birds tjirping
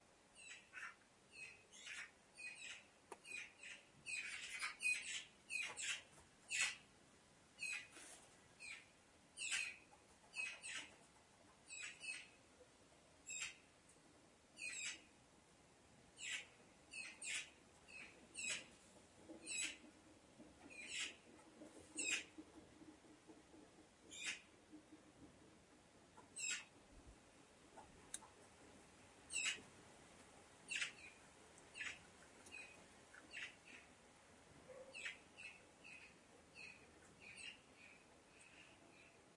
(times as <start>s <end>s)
0.4s 6.8s, 8.6s 11.0s, 16.2s 18.7s, 19.4s 19.8s, 20.7s 21.3s, 21.9s 22.4s, 24.1s 24.5s, 26.2s 26.7s, 29.3s 29.6s, 30.7s 34.0s, 34.7s 39.2s